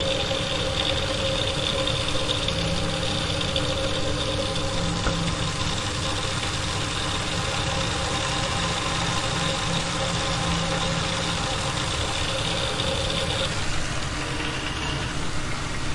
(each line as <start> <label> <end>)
0.0 Pressure Meter Pipe Noises 15.9
0.0 water 15.9